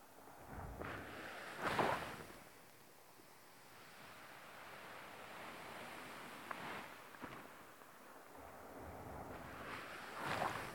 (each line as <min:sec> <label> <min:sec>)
0:00.0 sea turning the sand about on its bed 0:10.7